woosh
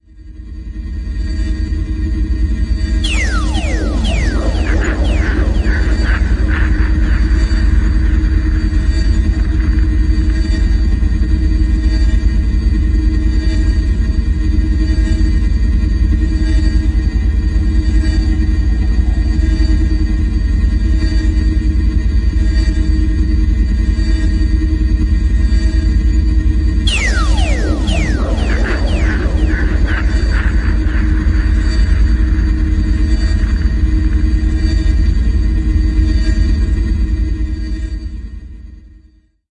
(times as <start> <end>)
3.0 10.0, 26.9 34.4